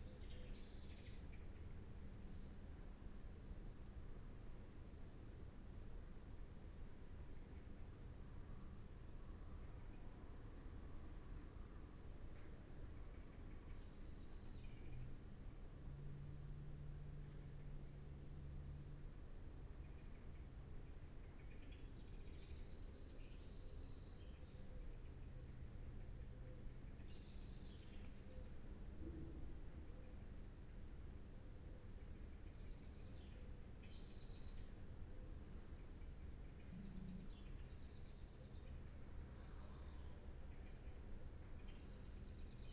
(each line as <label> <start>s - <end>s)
blackbird calls outside 36.6s - 38.7s